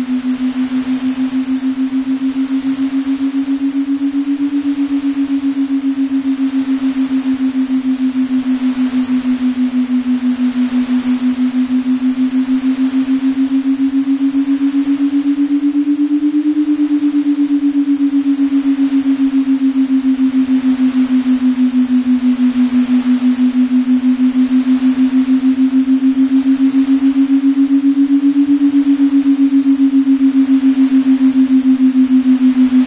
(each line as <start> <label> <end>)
0.0 Binaural beats 32.8